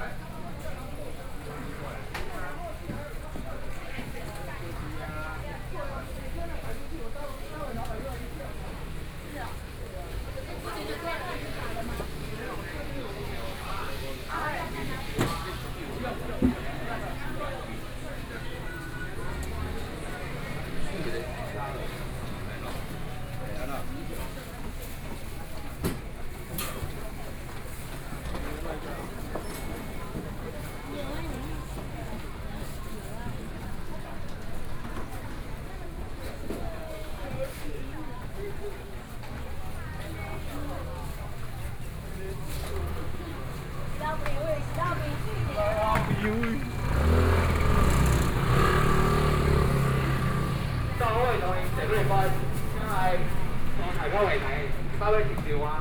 0.0s Traffic Sound 55.8s
0.0s walking in the Fruit and vegetable wholesale market 55.8s

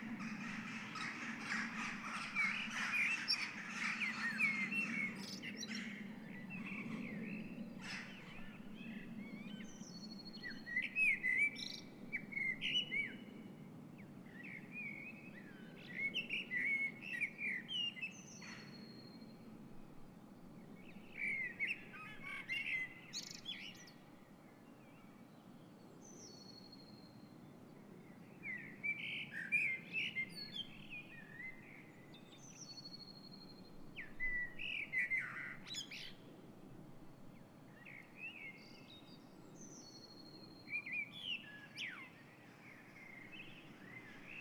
0.0s Seagulls 5.2s
0.0s Blackbird 13.2s
0.0s Jackdaws 4.7s
14.3s Blackbird 19.2s
34.0s Blackbird 36.2s
37.8s Blackbird 44.4s

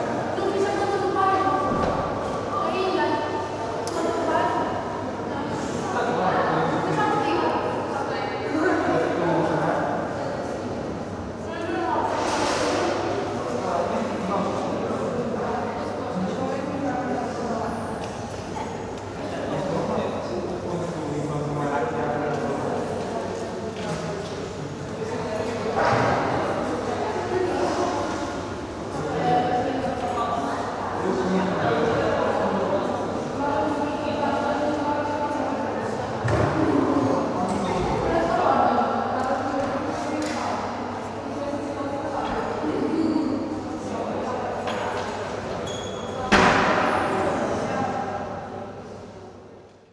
22.2s student activity 45.6s

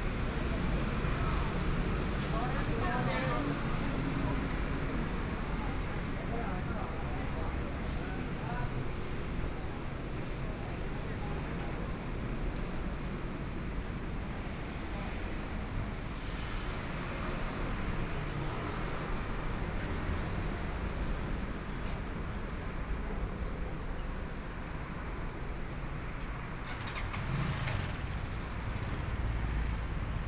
24.6s Traffic Sound 30.2s
25.6s Various shops voices 30.2s
26.6s Motorcycle sound 30.2s

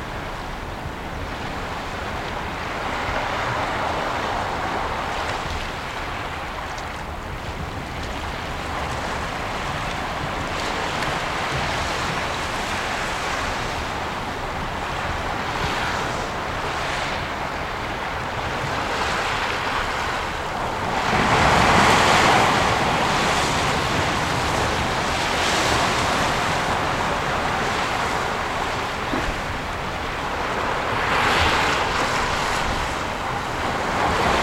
0.0s Little waves 34.4s

